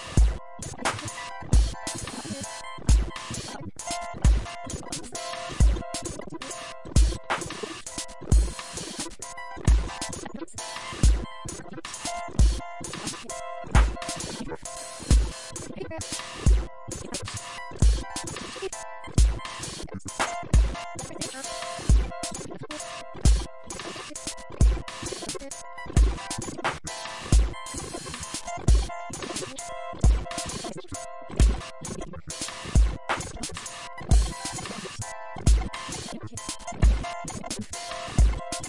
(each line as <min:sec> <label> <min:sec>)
0:00.0 polyrhythm loop 0:38.6